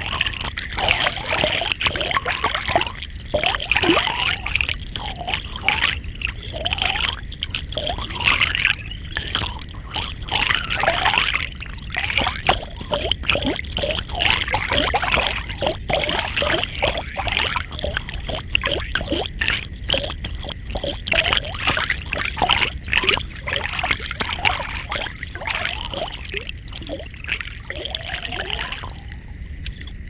river 0.0 - 30.0

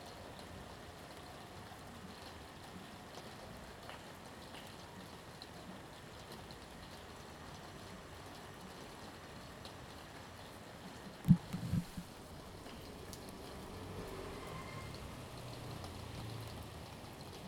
Rain 0.0 - 17.4

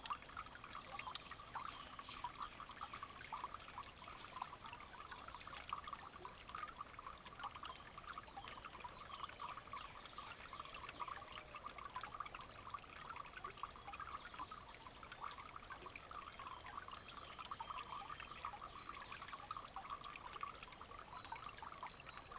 spring emptying into a pool 0.0 - 13.8

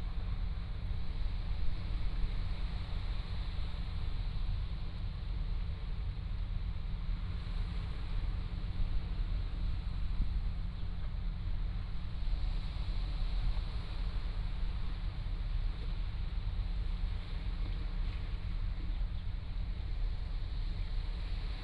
waves 0.0 - 21.6

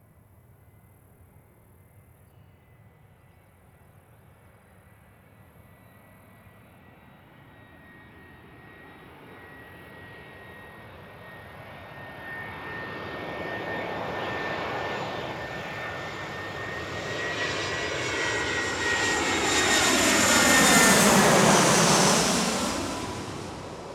Aircraft 0.0 - 23.9
Planes departing 6.6 - 23.9

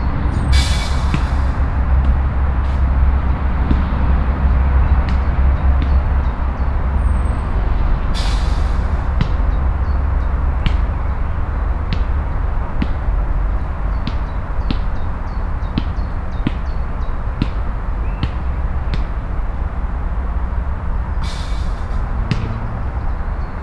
young man playing basket-ball 10.2 - 20.4

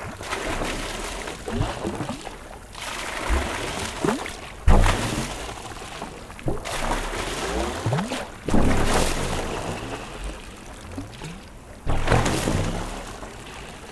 Mad pump 0.0 - 13.9
pipes make strange mad sounds of reflux 0.0 - 13.9
river, where water is thrown 0.0 - 13.9

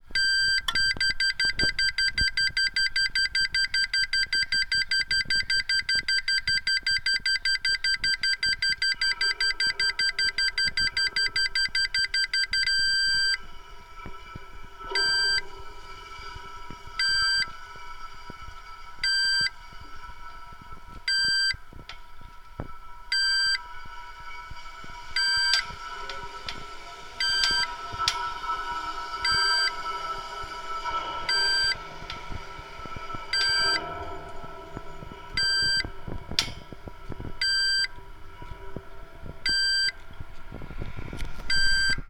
sounds from inside a crosswalk signal 0.1 - 13.4
sounds from inside a crosswalk signal 14.0 - 17.6
sounds from inside a crosswalk signal 19.0 - 19.9
sounds from inside a crosswalk signal 20.6 - 22.0
sounds from inside a crosswalk signal 22.6 - 24.5
sounds from inside a crosswalk signal 25.2 - 28.5
sounds from inside a crosswalk signal 29.1 - 40.0
sounds from inside a crosswalk signal 41.4 - 42.0

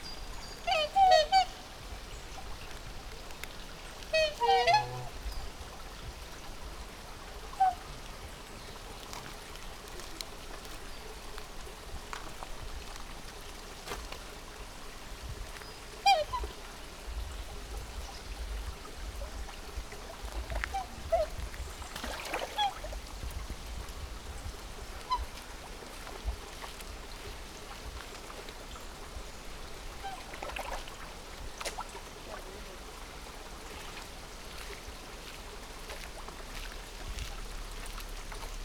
black swans playing about and wailing 0.5 - 5.7
black swans playing about and wailing 7.5 - 8.0
black swans playing about and wailing 16.0 - 16.6
black swans playing about and wailing 20.0 - 23.0
black swans playing about and wailing 24.9 - 31.9

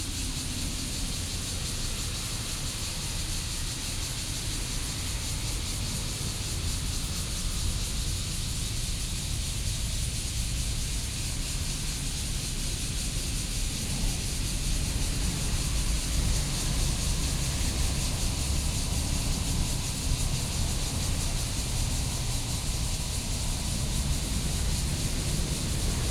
Cicadas sound 0.0 - 26.1
Traffic Sound 0.0 - 26.1

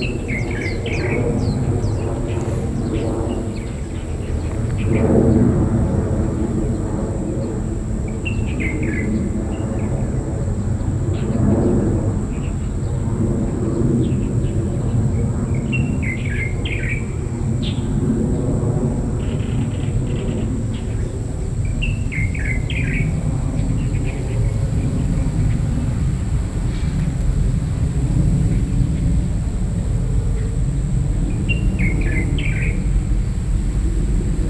Aircraft flying through 0.0 - 8.5
birds 0.0 - 9.9

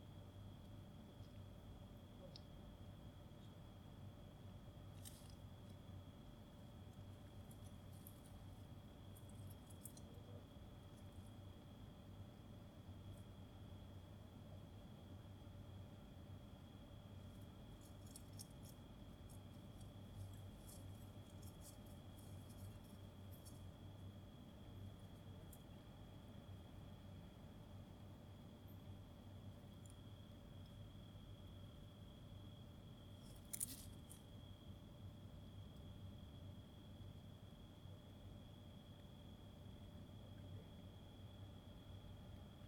rats, as they get inside and outside the bushes 0.0 - 42.6

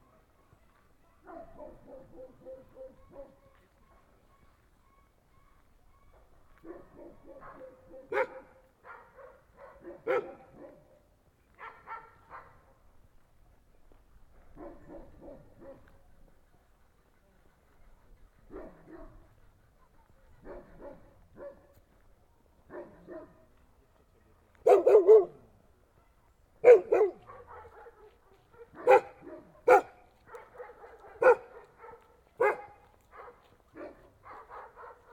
Dogs barking 1.2 - 4.3
Dogs barking 6.2 - 12.7
Dogs barking 14.4 - 15.9
Dogs barking 18.5 - 19.3
Dogs barking 20.4 - 21.8
Dogs barking 22.7 - 23.5
Dogs barking 24.6 - 25.4
Dogs barking 26.6 - 35.1

